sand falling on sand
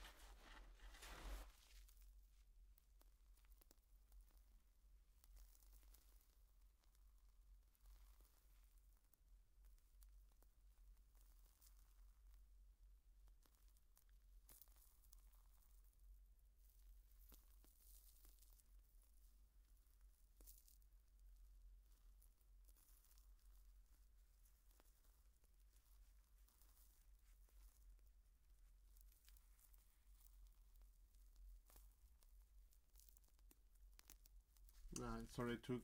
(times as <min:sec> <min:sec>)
0:00.0 0:01.9